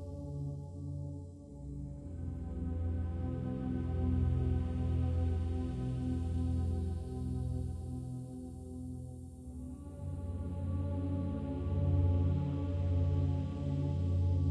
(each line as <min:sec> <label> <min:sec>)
0:00.0 synthesizer 0:14.5